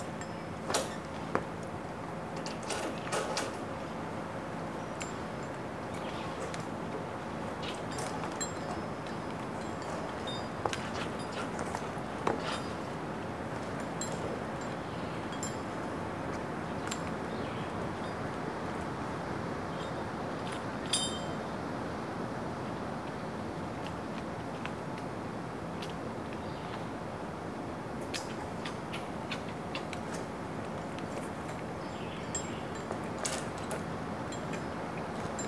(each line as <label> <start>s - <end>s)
slight breeze in trees 0.0s - 35.4s
Metal sounds are from the climbing harness hardware 12.4s - 12.8s
Metal sounds are from the climbing harness hardware 20.9s - 21.3s